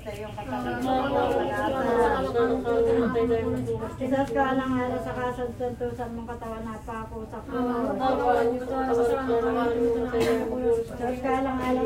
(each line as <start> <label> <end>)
0.0 traffic from the small road 7.5
0.0 ladies are praying and chanting 11.8